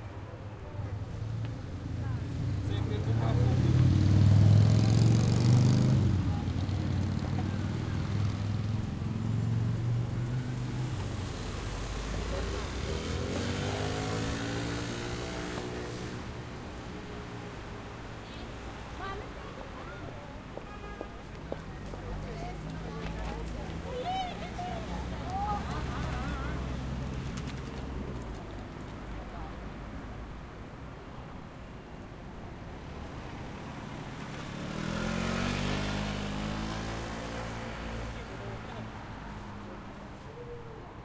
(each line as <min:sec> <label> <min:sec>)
0:00.0 voices 0:30.1
0:00.0 Road Traffic 0:41.0
0:01.9 motorcycle passing by 0:16.5
0:33.6 motorcycle passing by 0:39.8
0:34.8 voices 0:41.0